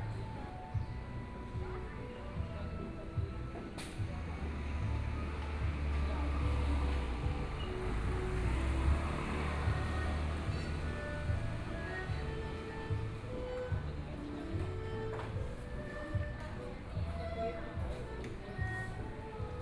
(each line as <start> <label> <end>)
2.8 Traffic Sound 15.6